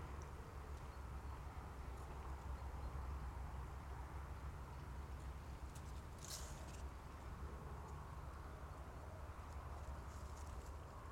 distant traffic 0.0 - 11.1
close dried grass 5.2 - 11.1

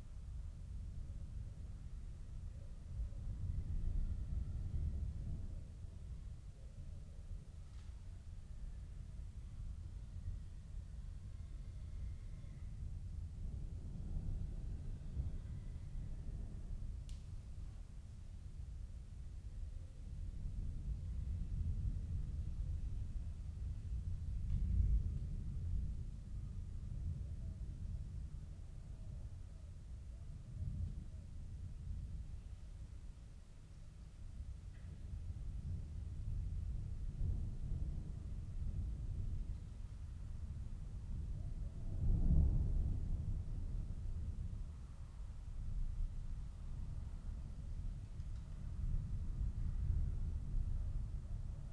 approaching thunderstorm 34.4 - 51.7

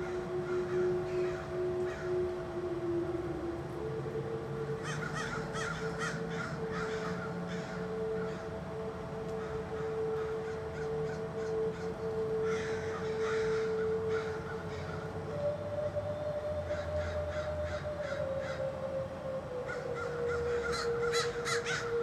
every single crow from hood did gather on walnut tree 4.8 - 8.6
every single crow from hood did gather on walnut tree 9.3 - 15.1

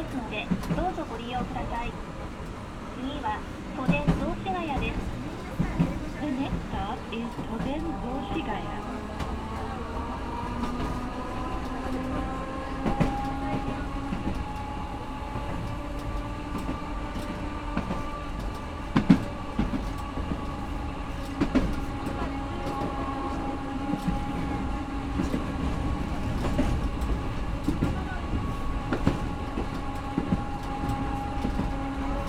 announcements from the speakers 0.0 - 2.0
conversations of passengers 0.0 - 32.2
tram 0.0 - 32.2
announcements from the speakers 3.0 - 5.1
announcements from the speakers 5.8 - 8.9

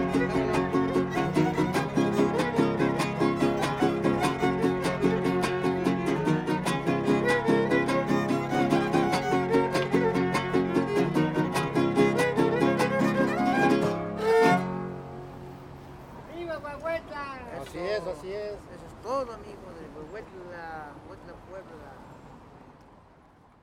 3 musiciens 0.0 - 15.4

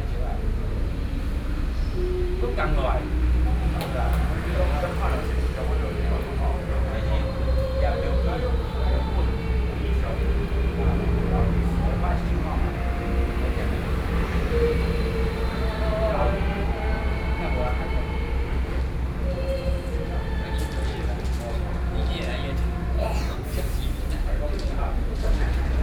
traffic noise 0.0 - 25.8

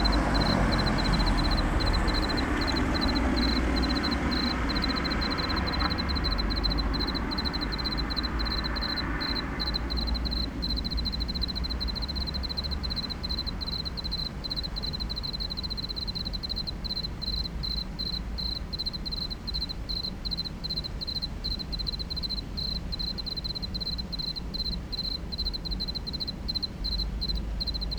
Railway station crickets 0.0 - 27.9

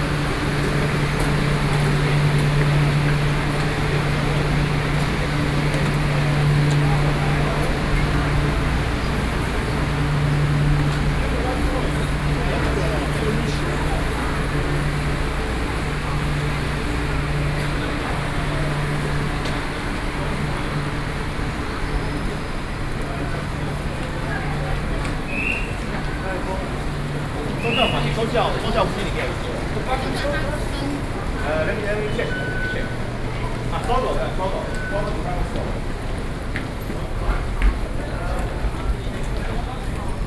walking through MRT stations 0.0 - 40.2

